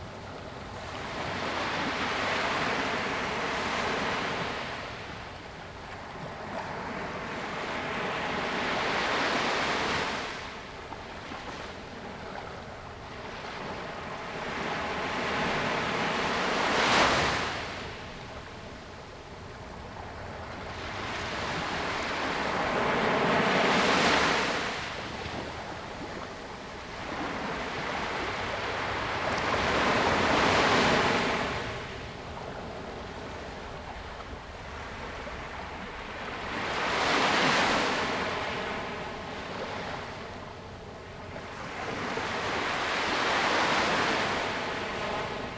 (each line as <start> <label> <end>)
0.0 waves 45.5